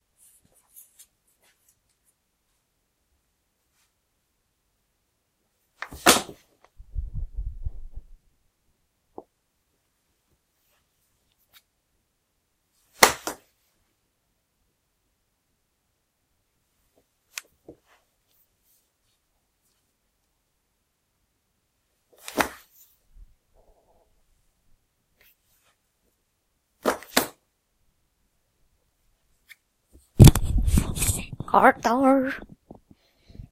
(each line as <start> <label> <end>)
5.8 fall on the floor 6.5
13.0 fall on the floor 13.5
22.2 fall on the floor 22.7
30.0 fall on the floor 31.4